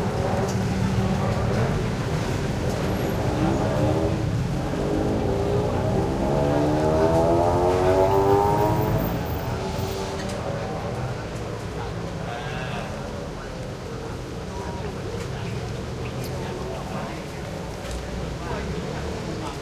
0.0s light traffic 19.6s
0.0s motorcycles 19.6s
0.0s pedestrians 19.6s

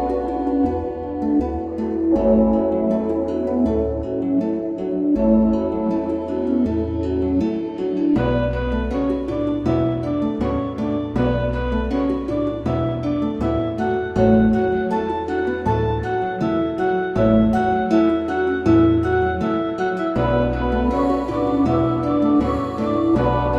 0.0s strings 23.5s

